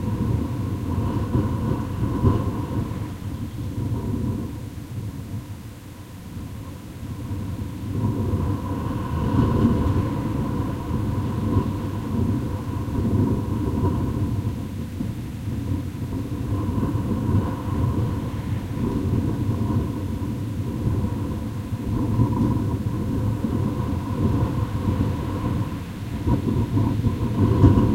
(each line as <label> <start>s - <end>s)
strong wind blowing on a closed kitchen extractor fan vent 0.0s - 27.9s